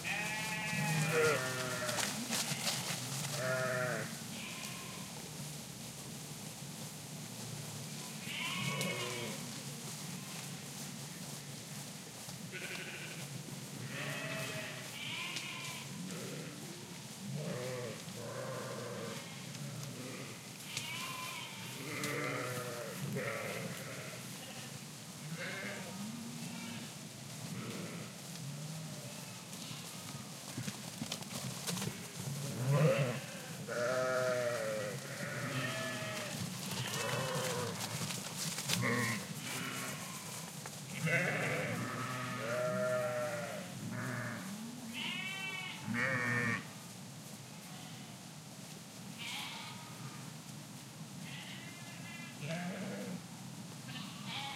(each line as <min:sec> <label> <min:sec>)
0:00.0 movement in the gras 0:53.0